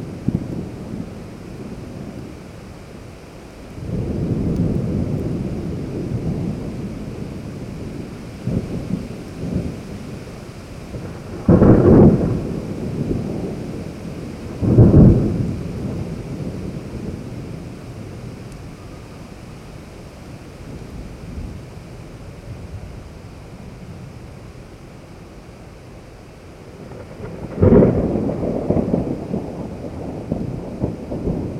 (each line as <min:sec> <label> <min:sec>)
0:00.0 rain 0:31.5
0:03.8 Thunder 0:10.3
0:10.9 Thunder 0:18.5
0:26.7 Thunder 0:31.5